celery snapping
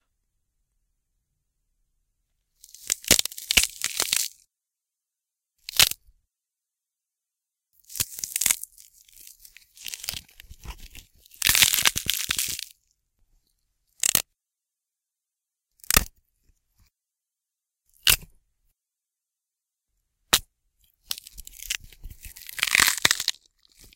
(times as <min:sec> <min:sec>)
0:21.1 0:23.4